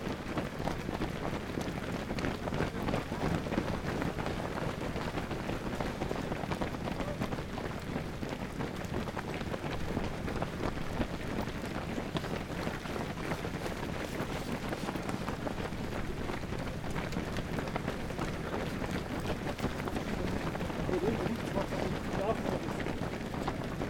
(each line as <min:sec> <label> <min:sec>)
0:19.8 Die Läufer des Einsteinmarathon 0:22.8